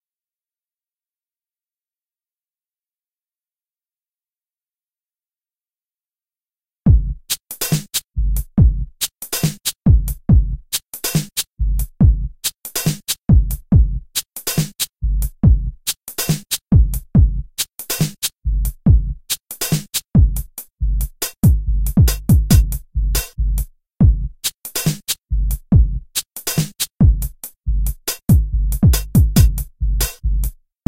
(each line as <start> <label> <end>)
6.9 full drums 30.5